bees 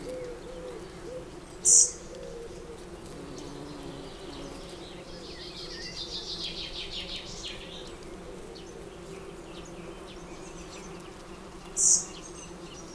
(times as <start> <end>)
3.0 4.9, 8.1 12.9